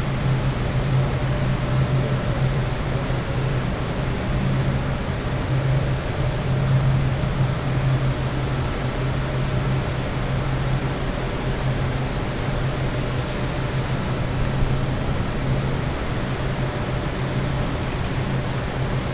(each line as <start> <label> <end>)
0.0 noise of servers 19.1